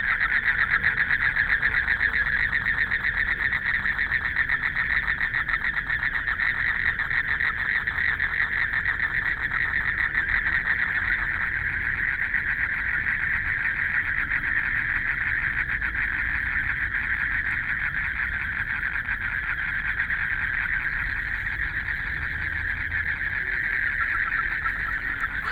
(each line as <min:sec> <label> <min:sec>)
0:00.0 Frogs sound 0:25.5
0:20.3 Traffic Sound 0:25.5